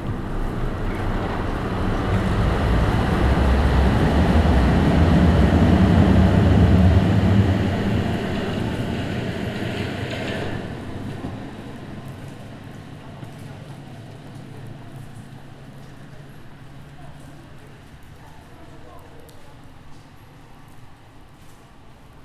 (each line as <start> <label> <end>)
0.0 night trams ariving and departing 16.7
11.6 water drops dripping from the overpass above 22.2